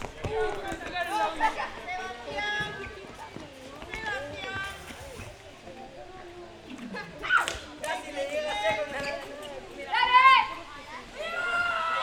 school kids playing 0:00.0 - 0:12.0

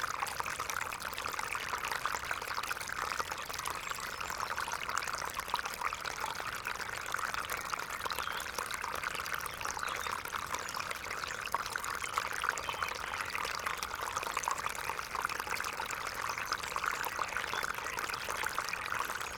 little creek soon after its outflow from a pond 0:00.0 - 0:19.3

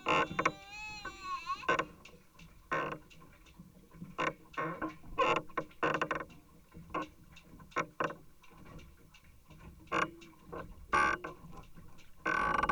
planks of a pontoon 0:00.0 - 0:01.7
voice of my 7 months old son 0:00.0 - 0:01.8

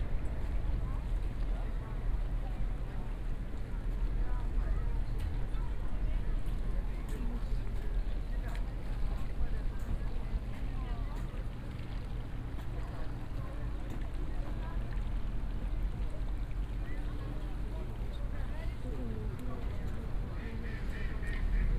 passengers leaving the boat 0:00.0 - 0:21.7

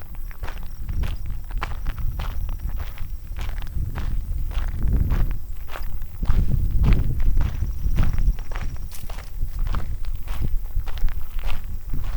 walking up the long driveway 0:00.0 - 0:12.1

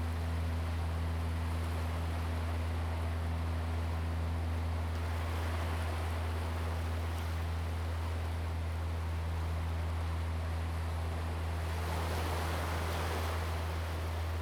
Waves 0:02.4 - 0:14.4

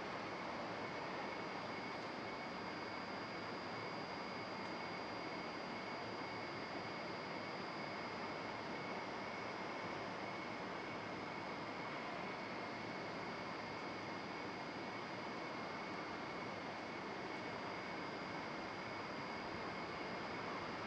generator producing a constant electrical hum 0:00.0 - 0:20.8

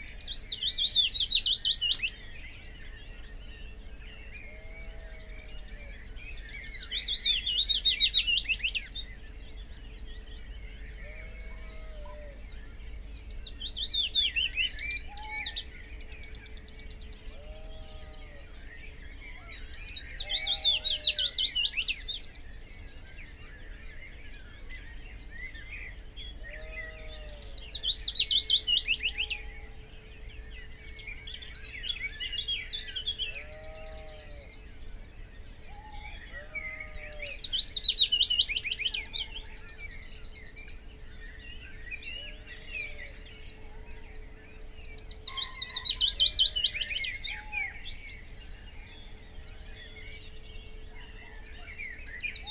Willow warbler song and call 0:00.0 - 0:52.5
background noise 0:00.0 - 0:52.5
song thrush 0:00.0 - 0:52.5
blackbird 0:10.1 - 0:52.5
common pheasant 0:31.3 - 0:52.5

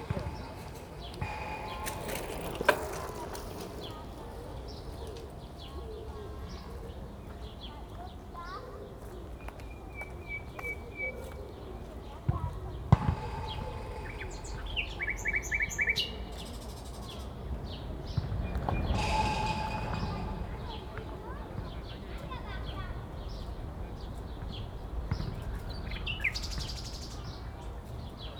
footballs striking the fence 0:00.0 - 0:05.3
footballs striking the fence 0:12.9 - 0:15.5

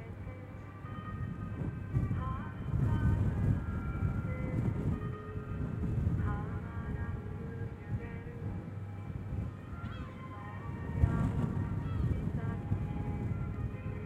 very windy place 0:00.0 - 0:14.0

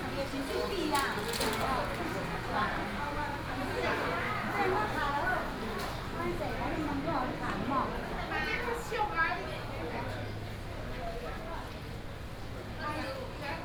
Walking in a small alley 0:00.0 - 0:13.6

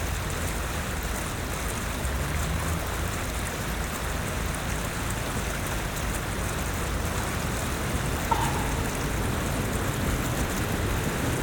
Fountain 0:00.0 - 0:11.4
cars nearby 0:00.1 - 0:11.4
Trams 0:07.4 - 0:11.4

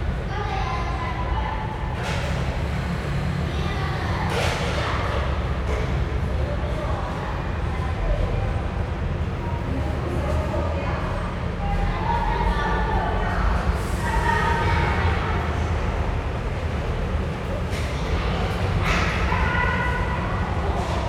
railway tracks 0:00.0 - 0:21.0

